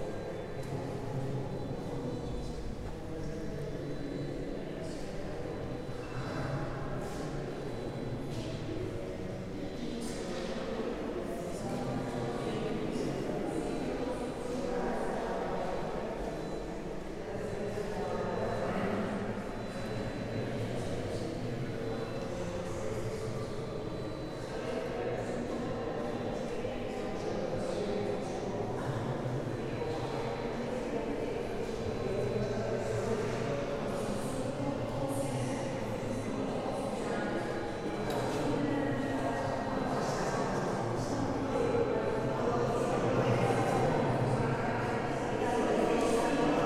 0.0s people talking, ressonating in the space 46.6s

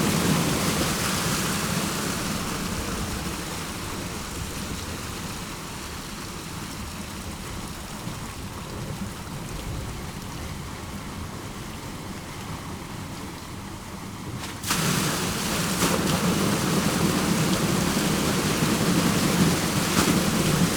14.4s black liquid tar flowing from these pipes 20.7s

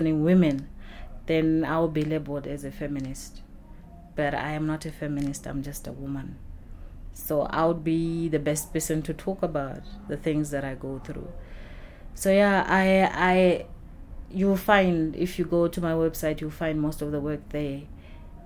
0.0s muffled sounds of the rush-hour city 18.4s
7.2s people’s voices roaming through Book Café 18.4s

